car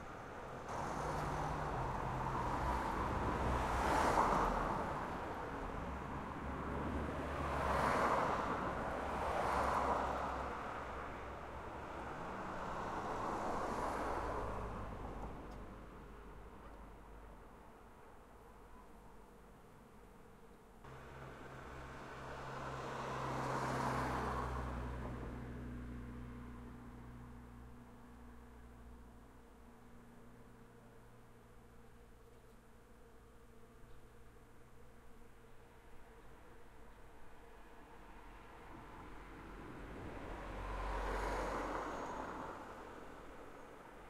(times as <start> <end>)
0.0 17.5, 20.8 31.0, 37.7 44.0